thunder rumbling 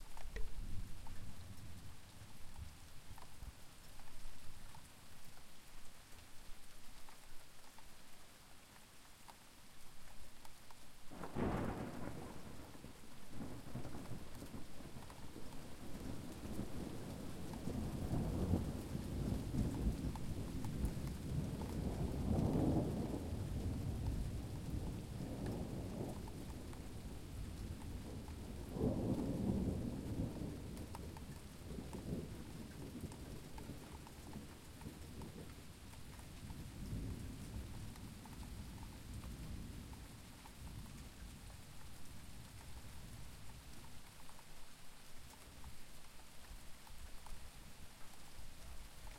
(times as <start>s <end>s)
11.1s 35.6s